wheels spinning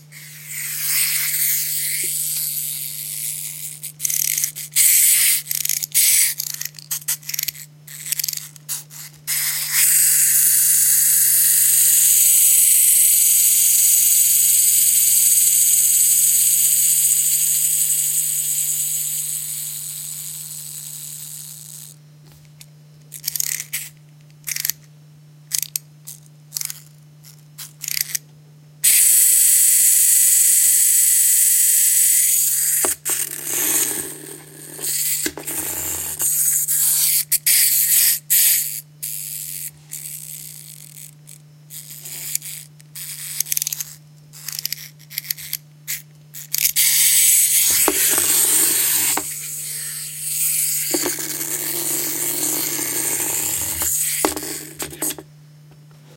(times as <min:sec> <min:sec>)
0:47.2 0:55.2